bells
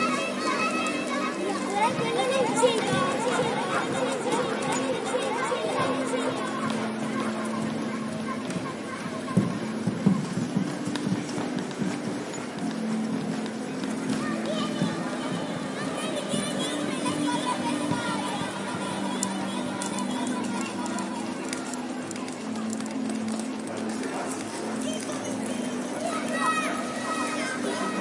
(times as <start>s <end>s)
0.0s 8.9s